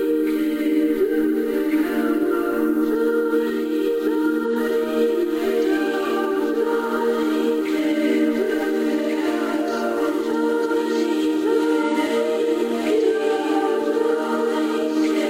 0.0s sustained chord in the background 15.2s

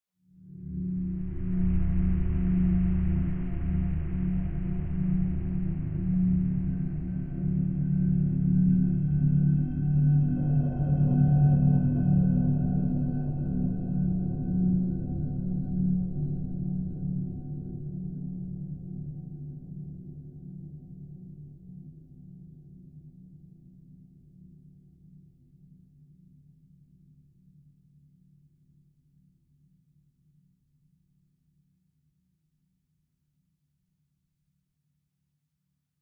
0.6s drone 11.4s

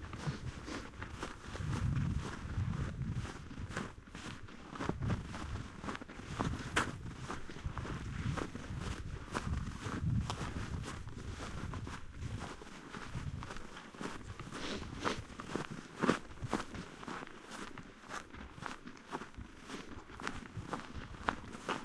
0.0s walking footsteps running 21.8s

